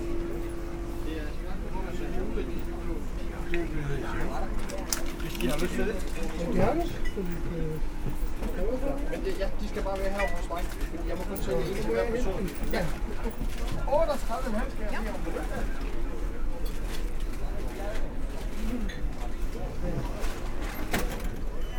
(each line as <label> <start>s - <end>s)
bottles placed in the shops vibrate 0.0s - 15.2s